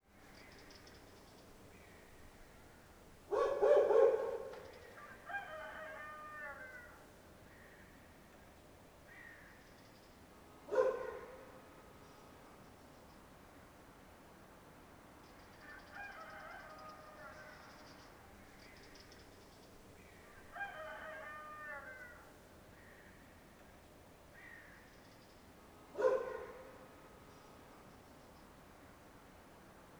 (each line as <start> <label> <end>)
3.3 dog 4.6
5.0 rooster 7.0
10.7 dog 11.4
15.6 rooster 18.1
20.4 rooster 22.3
26.0 dog 26.8